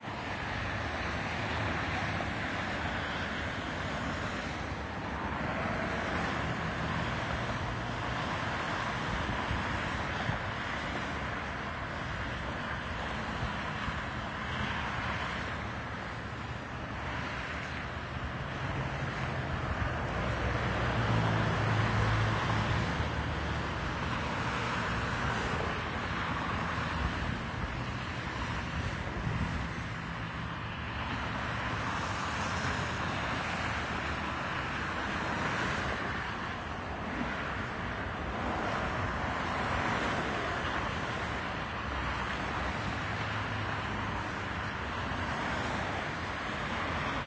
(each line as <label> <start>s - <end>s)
traffic 0.0s - 47.2s